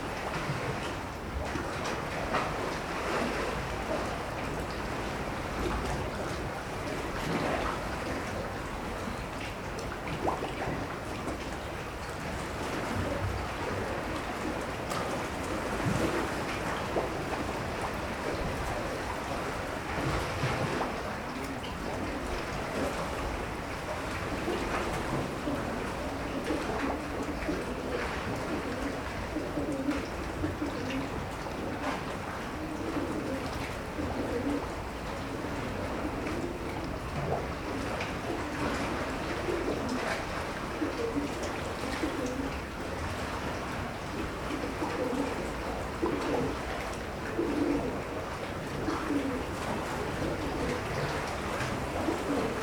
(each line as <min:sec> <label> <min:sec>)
0:00.0 waves 0:52.6
0:12.4 pigeons 0:52.6